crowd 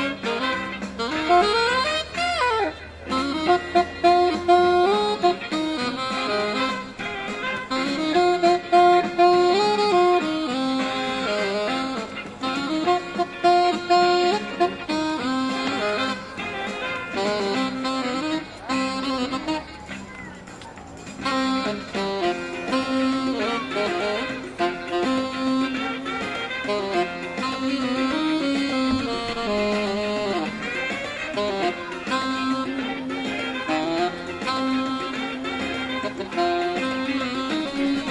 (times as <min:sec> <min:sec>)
0:19.7 0:21.2